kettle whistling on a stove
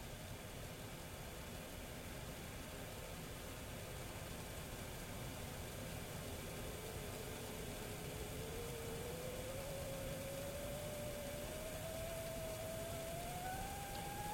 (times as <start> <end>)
5.6 14.3